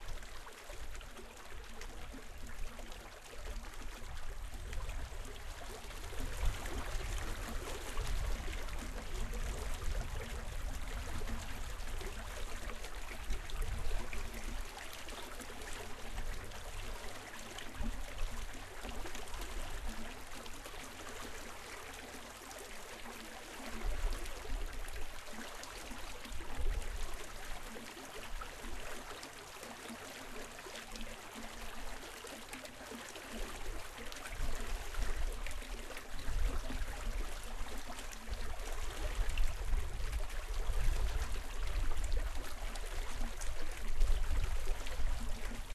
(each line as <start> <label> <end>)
0.0 water flowing in pool 45.7